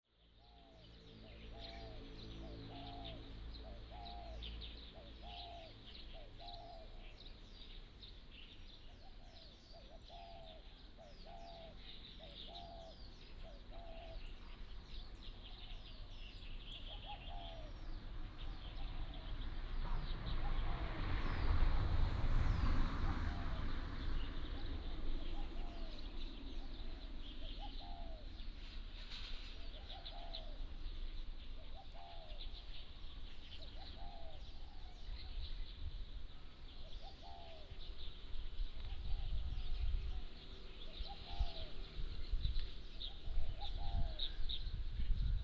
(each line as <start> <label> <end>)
0.1 Birds singing 21.6
17.5 Traffic Sound 45.1
22.4 Birds singing 45.4